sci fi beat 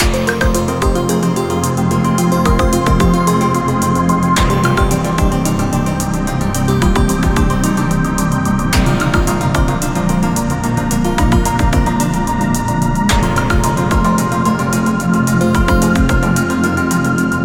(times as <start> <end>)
0.0 1.2, 2.4 3.4, 4.4 6.1, 6.7 8.0, 8.8 14.4, 15.5 16.5